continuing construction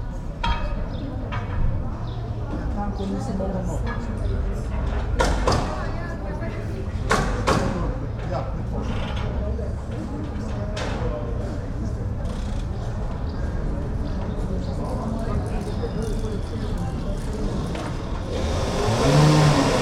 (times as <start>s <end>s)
7.0s 19.8s